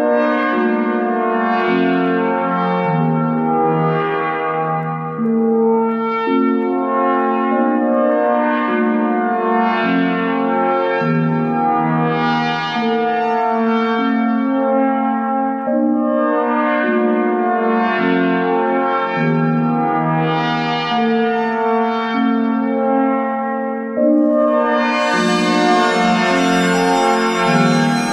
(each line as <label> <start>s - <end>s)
tamboura preset 24.4s - 28.1s